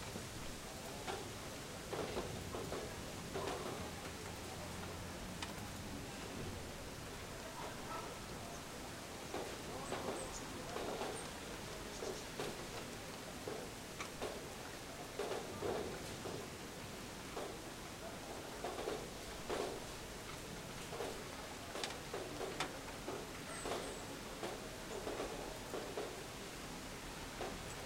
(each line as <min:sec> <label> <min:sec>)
0:00.0 Slight rain 0:27.8
0:00.0 wind 0:27.8